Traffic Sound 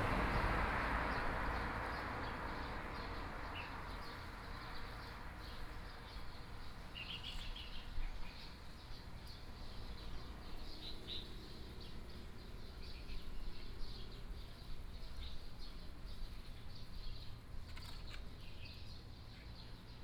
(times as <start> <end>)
0.0 6.9